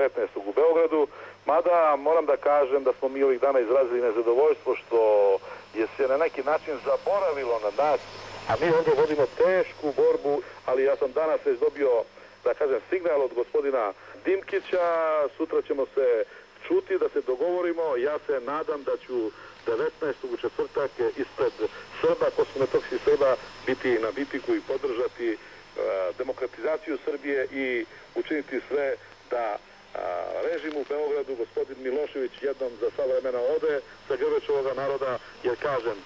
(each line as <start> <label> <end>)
0.0 Radio 36.0